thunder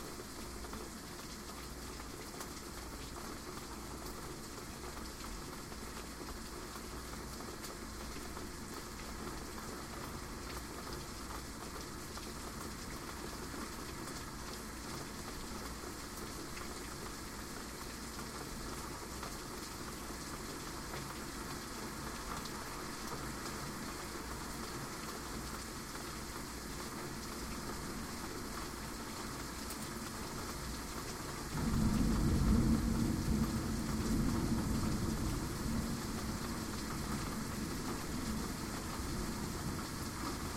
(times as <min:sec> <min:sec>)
0:31.5 0:38.1